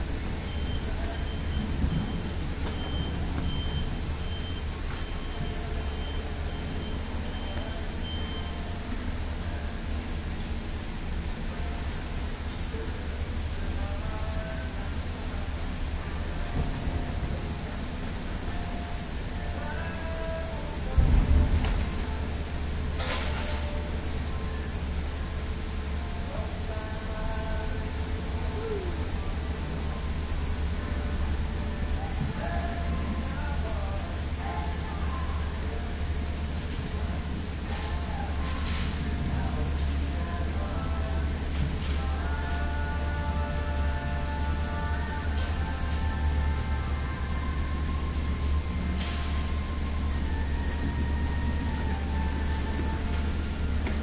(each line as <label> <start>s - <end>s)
customers browsing plants 0.0s - 54.0s
workers maintaining the exterior 0.0s - 54.0s
beep 0.4s - 8.7s